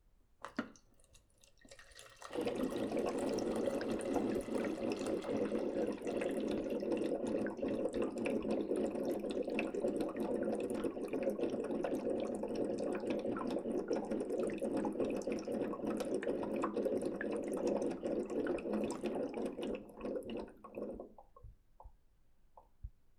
water dispenser 0.4 - 21.9

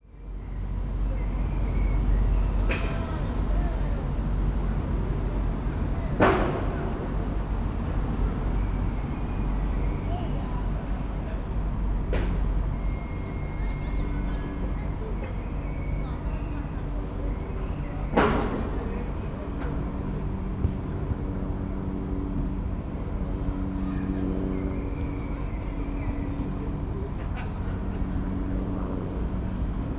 construction 5.0 - 8.8

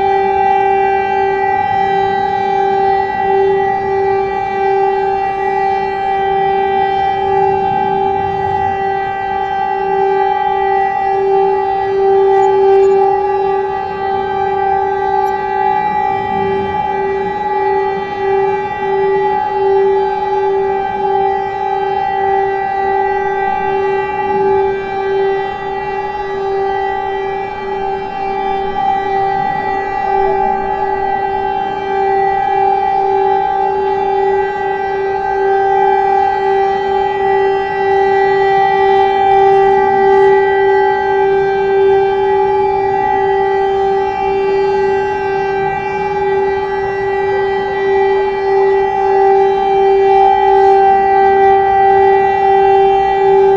Siren test 0.0 - 53.5

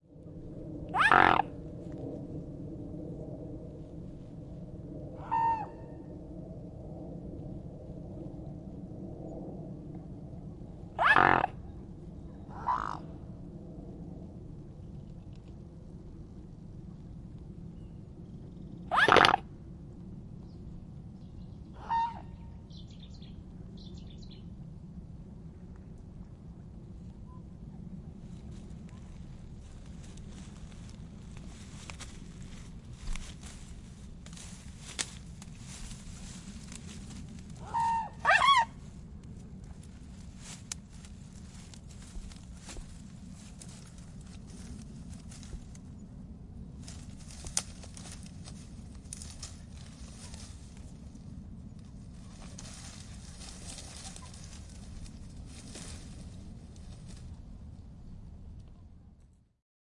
Aeroplane Overhead 0.0 - 59.4
Swan Signet Call and Response 0.9 - 1.5
Swan Signet Call and Response 11.0 - 11.6
Swan Signet Call and Response 18.9 - 19.4
Swan Signet Call and Response 21.8 - 23.0
Swan Signet Call and Response 37.6 - 38.7

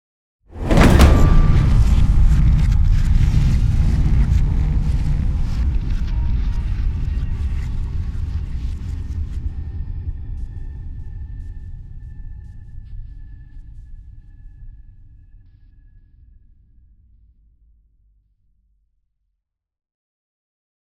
impact 0.6 - 2.9

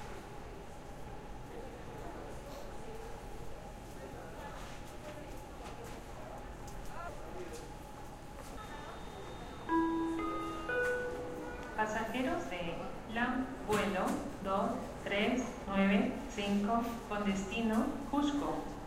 flight announcements 8.4 - 18.8

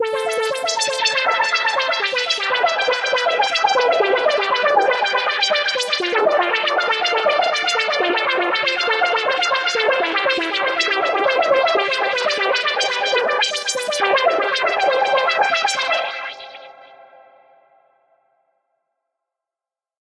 arpeggio 0.0 - 15.6

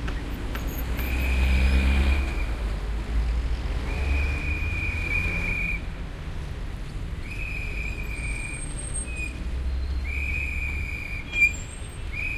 traffic 0.0 - 12.3
trucks 0.0 - 12.3
whistle 3.9 - 5.9
whistle 7.2 - 12.3

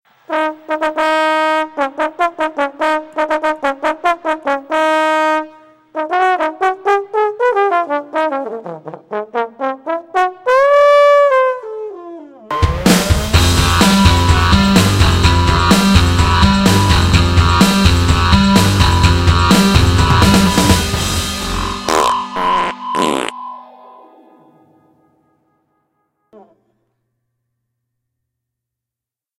fanfare 0.3 - 11.6
fanfare 12.5 - 23.4

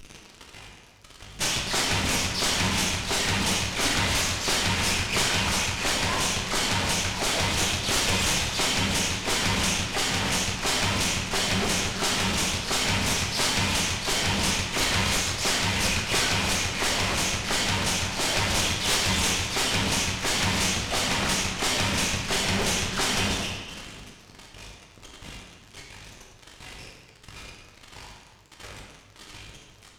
Bass Drum 1.4 - 23.7
Snare Drum 1.4 - 23.8

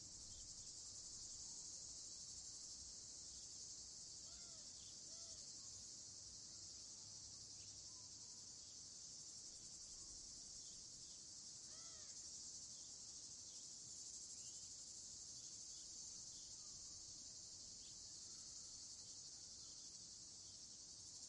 Cicades 0.0 - 21.2
Crickets 0.0 - 21.2
Eagle Owl 4.2 - 5.4
Eagle Owl 11.7 - 12.2

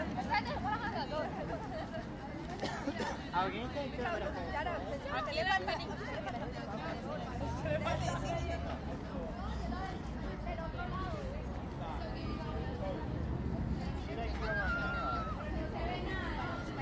tourists chat 0.0 - 16.8

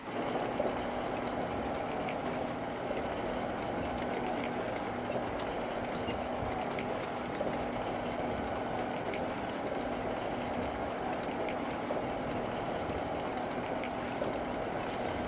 motors 0.0 - 15.2

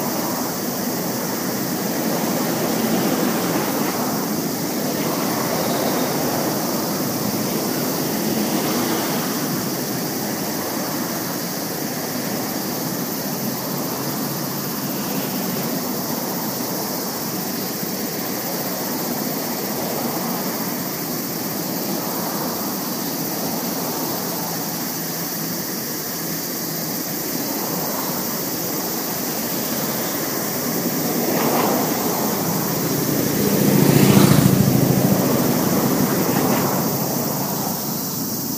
cicadas 0.0 - 38.5
passing cars and tracks 0.0 - 38.5
motorcycles 0.1 - 17.4
motorcycles 27.3 - 38.3

